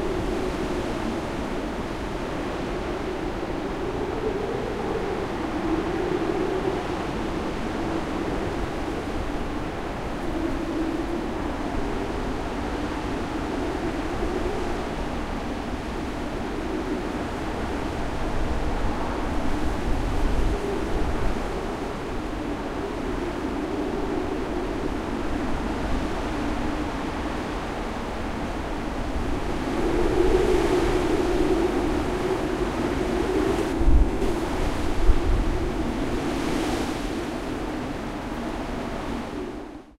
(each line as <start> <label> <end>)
0.0 wind 39.9